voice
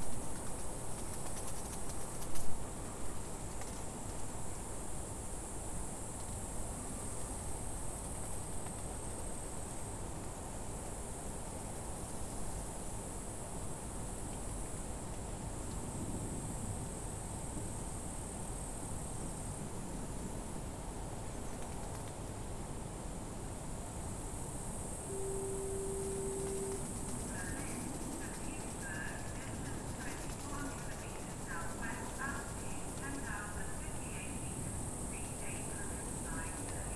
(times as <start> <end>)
25.1 36.9